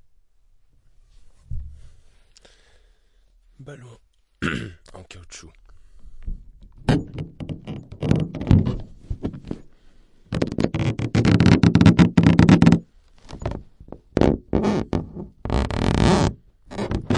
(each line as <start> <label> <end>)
7.4 Balloon rubbed 9.0
10.3 Balloon rubbed 17.1